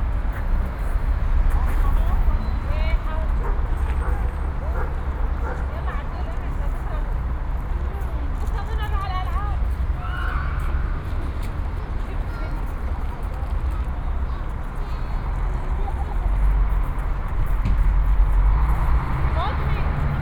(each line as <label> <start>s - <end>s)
busses all around 0.0s - 20.2s
Children playing 9.9s - 16.6s